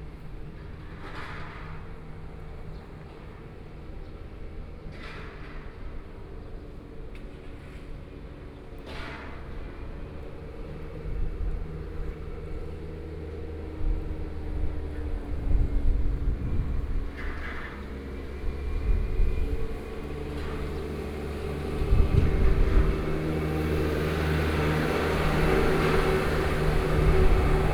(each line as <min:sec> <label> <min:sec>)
0:00.0 Trains traveling through, under the railway track 0:27.7
0:11.6 Traffic Sound 0:27.7